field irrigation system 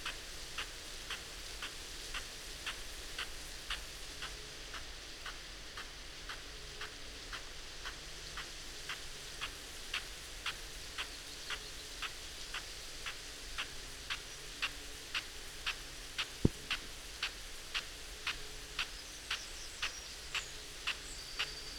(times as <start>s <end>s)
12.6s 21.7s